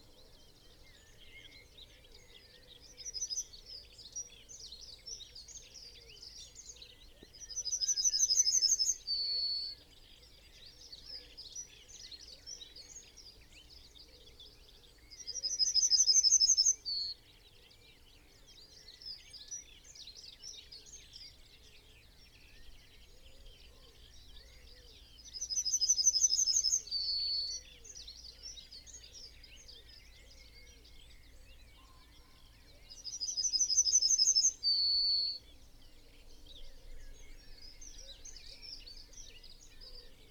blackbird 0:00.0 - 0:40.3
pheasant 0:00.0 - 0:40.3
yellowhammer song and call 0:00.0 - 0:40.3
song thrush 0:14.6 - 0:40.3

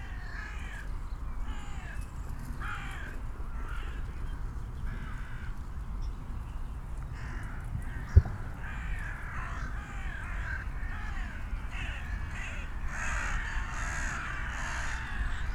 hundreds of dun crows 0:07.2 - 0:15.5

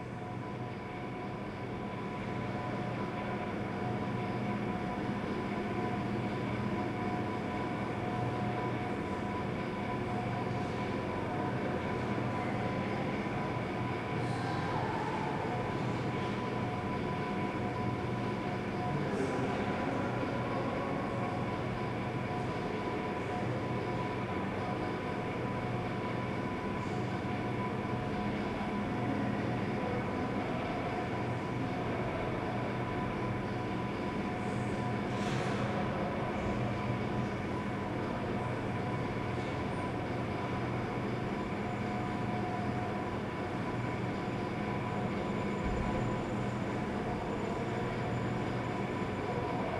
ancient vending machine resonates 0:00.0 - 0:49.7

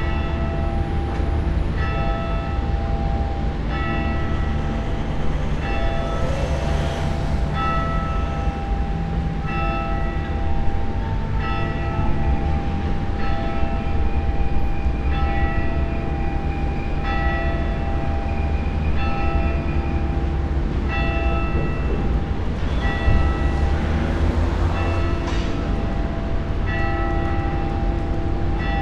funeral bells 0:00.0 - 0:28.8

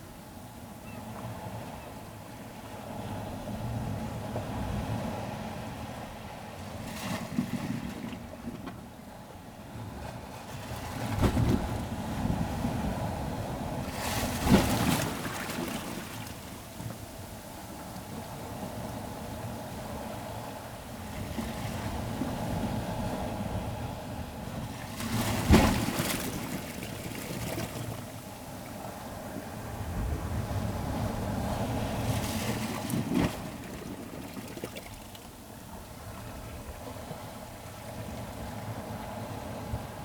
Incoming tide 0:10.8 - 0:40.0

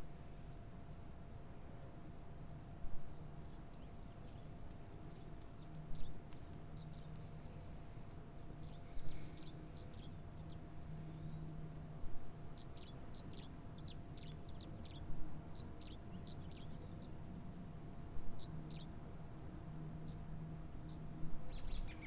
birds on the porch 0:00.0 - 0:22.0

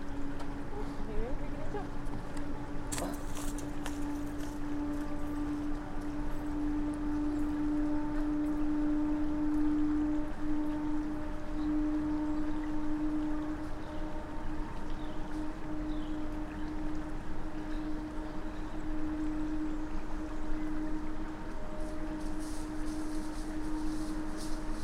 people walk the trail 0:00.0 - 0:08.4
faint sound of water 0:00.0 - 0:24.8
people walk the trail 0:21.4 - 0:24.8

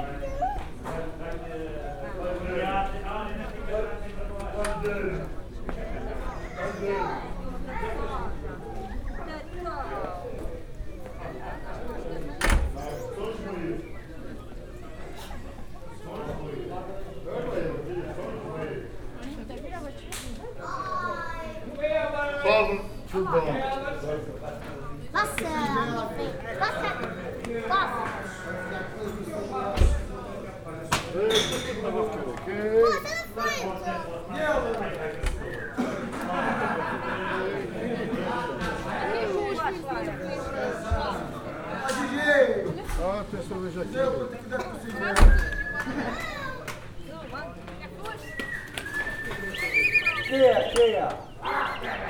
toboggan sled drivers 0:48.2 - 0:51.2

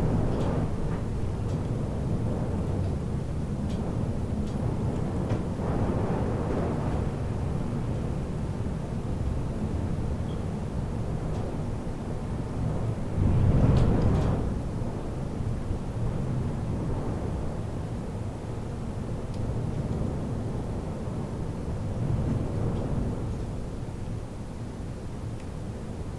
storm behind the balcony window 0:00.0 - 0:26.1

